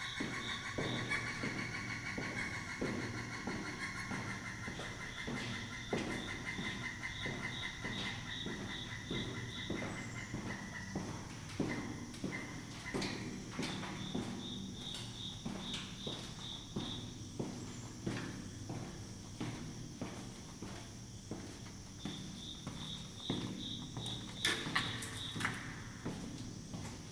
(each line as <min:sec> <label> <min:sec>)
0:00.0 birds 0:19.6
0:00.0 katydids 0:27.0
0:00.0 airplane 0:27.1
0:00.0 cricket marks time like the ticking of a clock 0:27.1
0:00.0 footsteps 0:27.1
0:21.3 birds 0:26.2